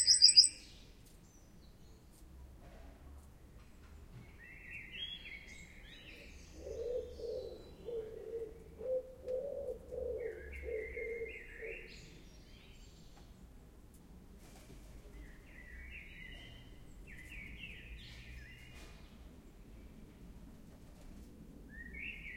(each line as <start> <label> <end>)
0.0 wren 0.6